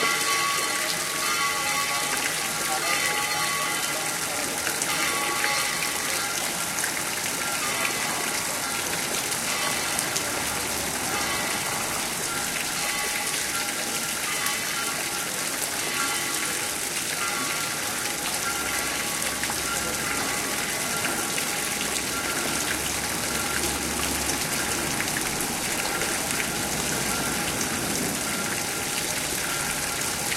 0.0s bells pealing 6.6s
0.0s water falling in a fountain 30.3s

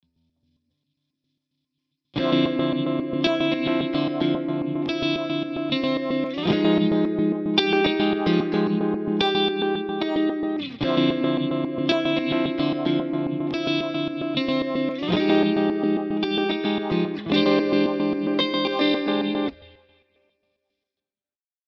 2.2s Guitar 20.1s

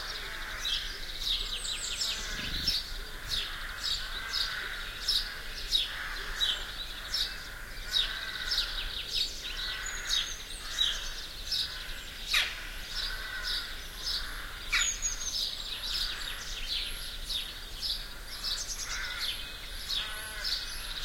0.0s sparrows 21.0s

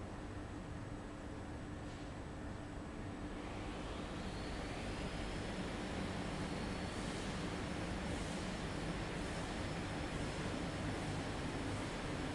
1.8s workers on the main printing floor 12.3s
3.4s printing machines 12.3s

